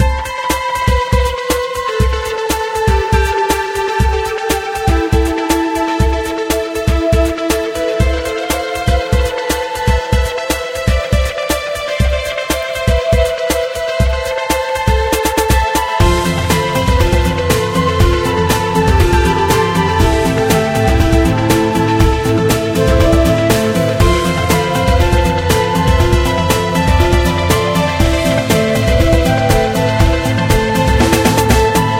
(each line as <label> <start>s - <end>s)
music 0.0s - 31.9s